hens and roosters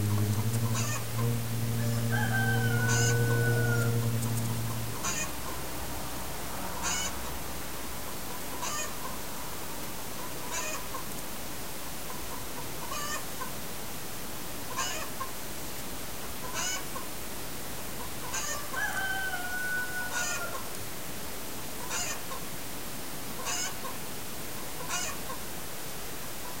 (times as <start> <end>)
0.0 5.3, 18.0 20.7, 23.4 24.0